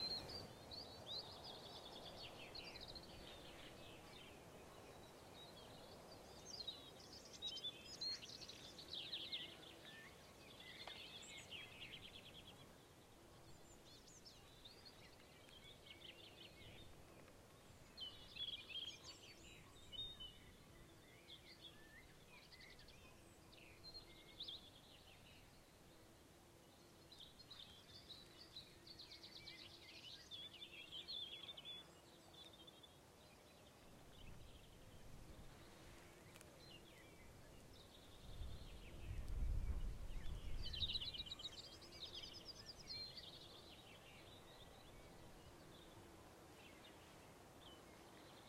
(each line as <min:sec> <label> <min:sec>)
0:00.0 birds 0:48.4
0:00.0 wind 0:48.4